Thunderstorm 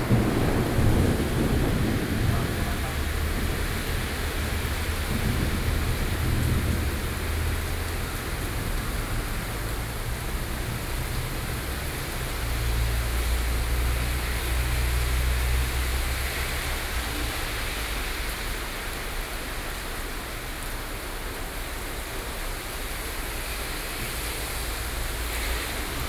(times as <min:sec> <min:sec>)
0:00.0 0:18.7, 0:24.1 0:26.0